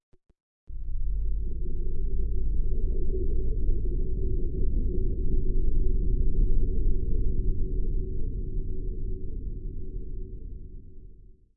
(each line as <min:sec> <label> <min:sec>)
0:00.7 bass drone 0:11.0